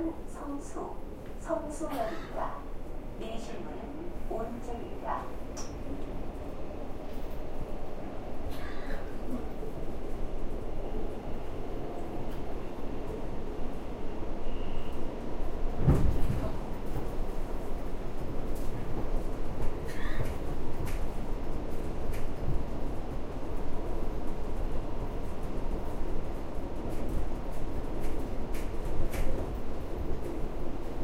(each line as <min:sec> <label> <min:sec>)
0:00.0 People talk 0:02.6
0:00.0 Metro information 0:31.0
0:03.2 People talk 0:05.3